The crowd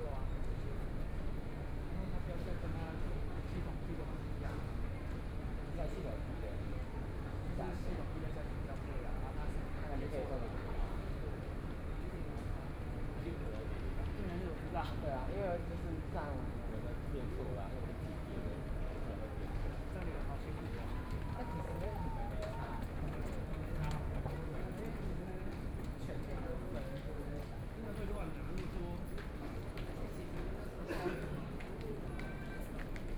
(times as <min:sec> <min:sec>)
0:18.4 0:24.9